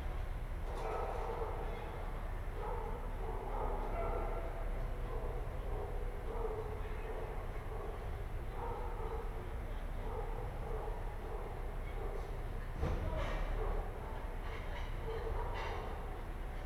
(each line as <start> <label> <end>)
0.7 dog 1.7
2.6 dog 6.8
7.6 dog 12.4
13.5 dog 16.2